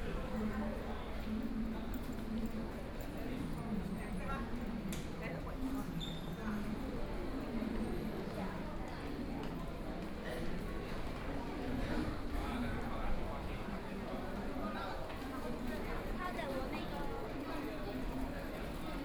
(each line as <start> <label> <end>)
0.0 Crowd 19.0